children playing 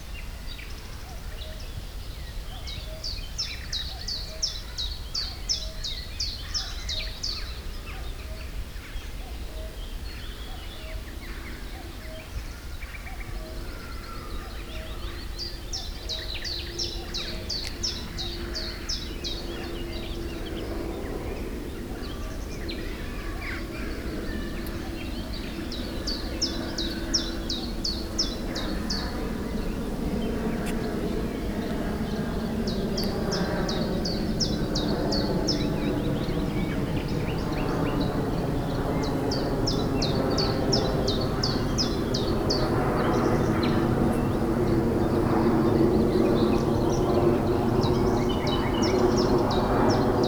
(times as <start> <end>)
21.5 32.2